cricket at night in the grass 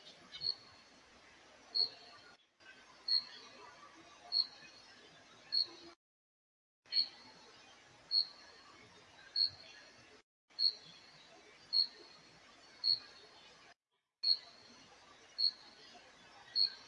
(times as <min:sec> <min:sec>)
0:00.3 0:00.7, 0:01.7 0:02.1, 0:03.1 0:03.4, 0:04.3 0:04.7, 0:05.5 0:05.7, 0:06.9 0:07.2, 0:08.1 0:08.4, 0:09.4 0:09.7, 0:10.6 0:11.0, 0:11.7 0:12.2, 0:12.8 0:13.2, 0:14.2 0:14.7, 0:15.4 0:15.8, 0:16.6 0:16.8